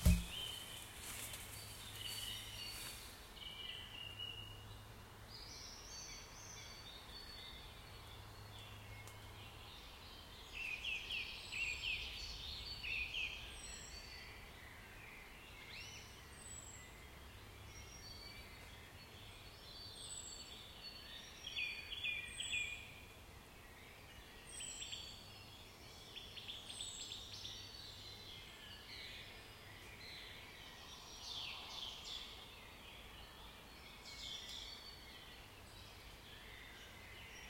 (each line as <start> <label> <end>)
0.0 birds 37.4